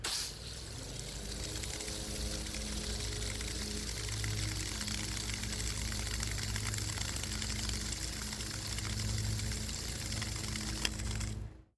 water hose spraying in soaker mode 0:00.0 - 0:11.4

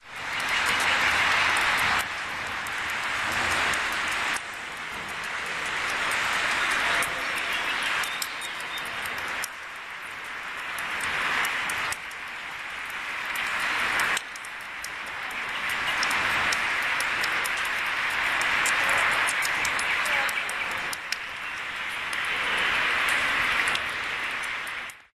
water 0:00.0 - 0:25.1
dripping 0:00.1 - 0:25.0
bird song 0:07.3 - 0:09.1

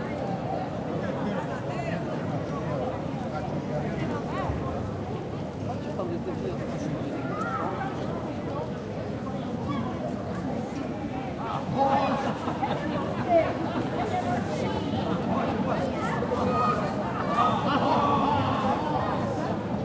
tourists from all around the world are milling about and talking 0:00.0 - 0:19.8

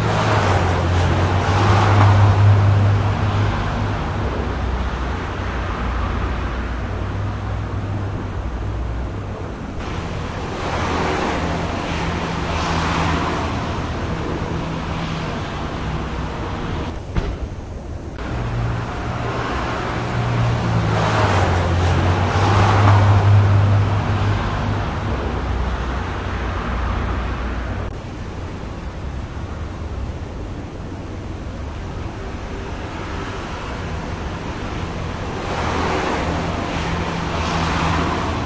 Heavy residential car traffic 0:00.0 - 0:38.4

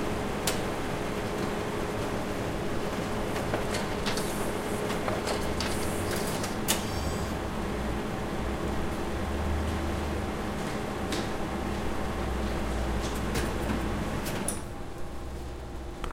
photocopier 0:01.2 - 0:07.3

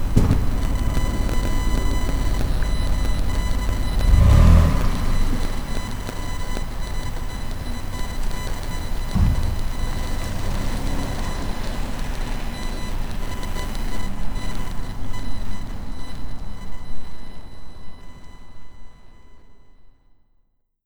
Toyota Highlander driving away 0:00.0 - 0:15.1

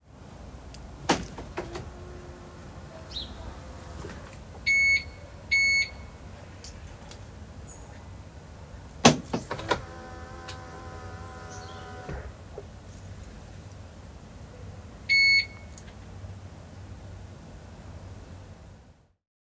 engine 0:00.0 - 0:19.1
Alarm 0:04.7 - 0:06.0
Beep 2 Times 0:04.7 - 0:06.0

